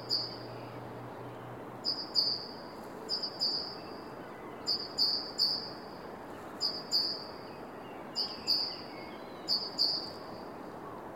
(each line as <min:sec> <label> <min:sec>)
0:00.0 Bird singing 0:05.8
0:06.6 Bird singing 0:11.0